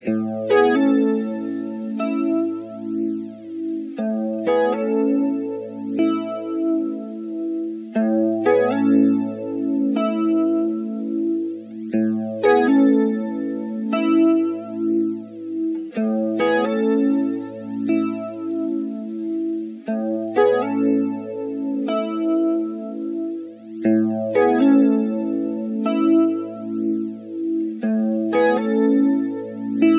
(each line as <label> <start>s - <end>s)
electricguitar 0.0s - 29.9s